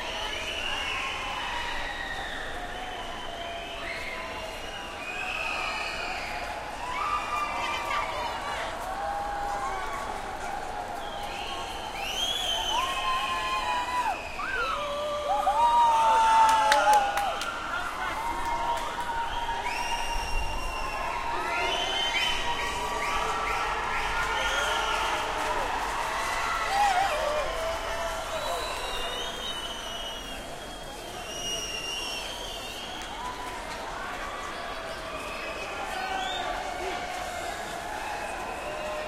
0.0s whistling 6.4s
0.0s crowd 39.0s
11.0s whistling 14.8s
18.7s whistling 25.2s
28.2s whistling 33.6s
35.2s whistling 36.7s

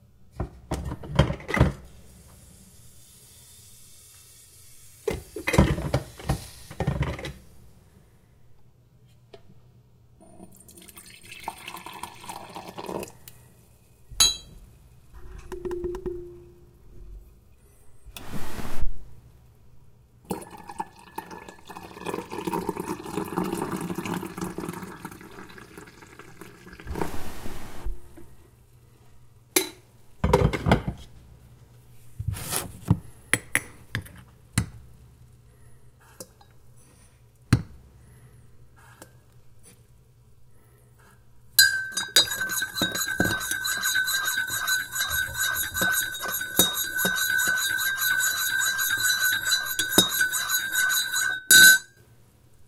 10.5s coffee or tea being poured into mug 13.2s
20.3s coffee or tea being poured into mug 26.9s
41.6s stirred with a spoon 51.9s

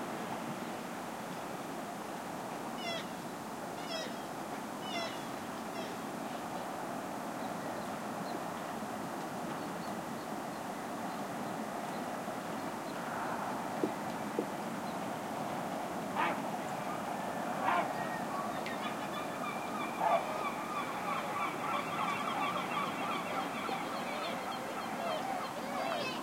0.0s ocean 26.2s

